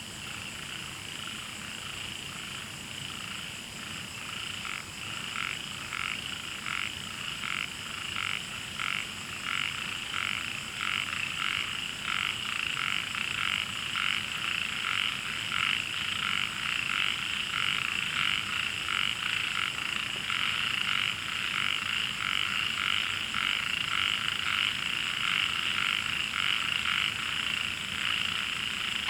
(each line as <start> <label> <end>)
4.2 Frogs chirping 29.0